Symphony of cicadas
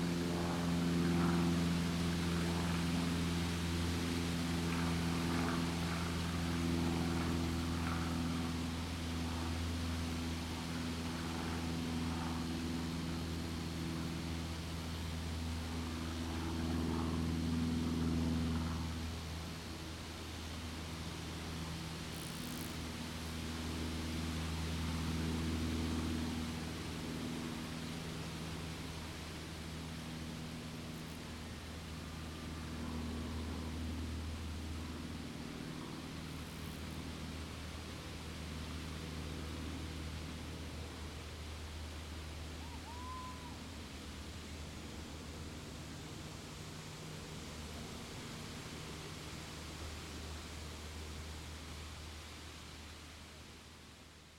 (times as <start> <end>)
18.8 32.8, 34.0 37.7, 40.1 52.6